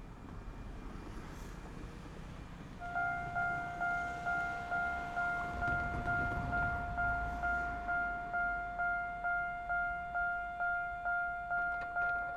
Trains traveling through 0:00.0 - 0:12.3
Traffic Sound 0:00.0 - 0:12.3
Railway level crossing 0:02.8 - 0:12.3

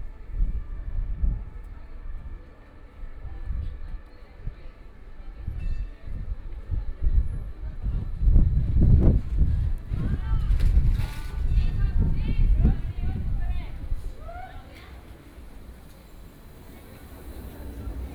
Streetcar 0:00.0 - 0:18.1
Tourists and pedestrians 0:00.0 - 0:18.1
Traffic Sound 0:13.2 - 0:18.1

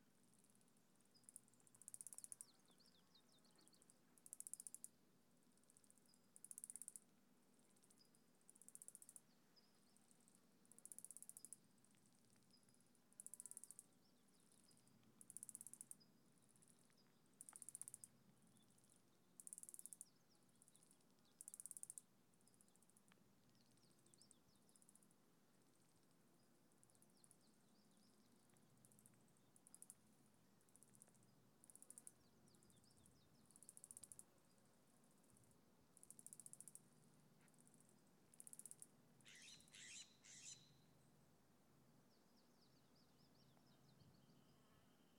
clicking sounds by insects 0:01.1 - 0:02.8
clicking sounds by insects 0:03.5 - 0:05.0
clicking sounds by insects 0:05.6 - 0:07.0
clicking sounds by insects 0:07.8 - 0:09.4
clicking sounds by insects 0:10.0 - 0:25.1
clicking sounds by insects 0:25.9 - 0:39.9

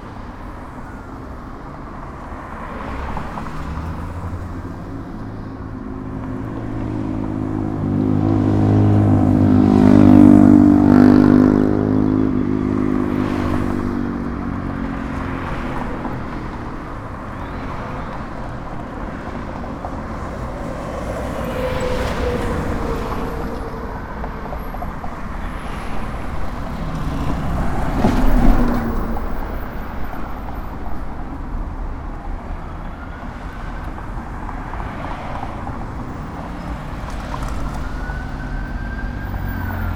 Traffic 0:00.0 - 0:39.9

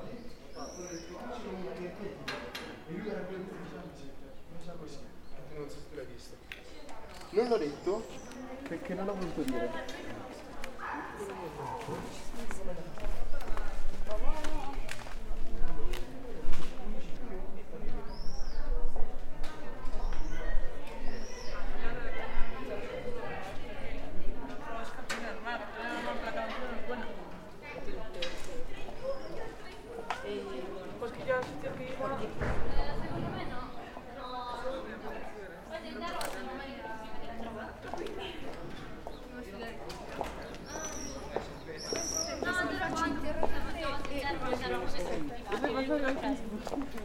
students walking and talking 0:00.0 - 0:47.0
workers 0:06.3 - 0:17.2
birds 0:19.8 - 0:21.7
birds 0:40.2 - 0:42.9

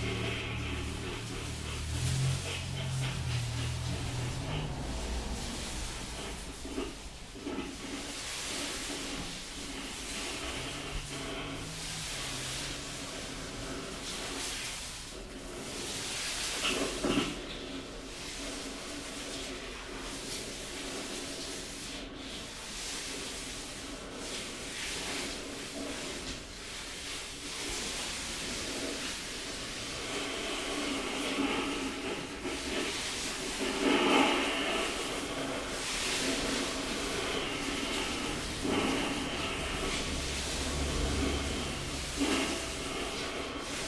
Rubbing ash from a house fire 0:00.0 - 0:43.8

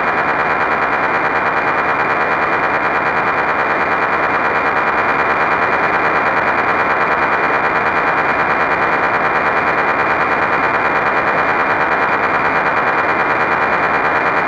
FREQ.RADIO AM 0:00.0 - 0:14.4

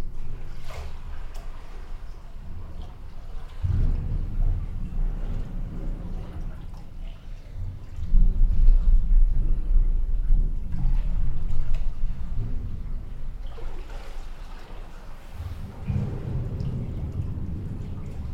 sluice gate 0:10.9 - 0:18.3

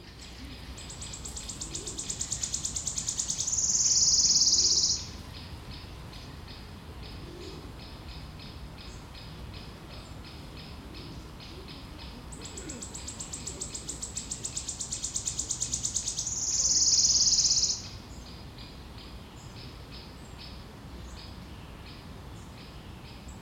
Bird trills 0:00.0 - 0:05.9
voices of other birds 0:00.0 - 0:23.4
Human voices 0:11.5 - 0:13.7
Bird trills 0:12.4 - 0:18.0

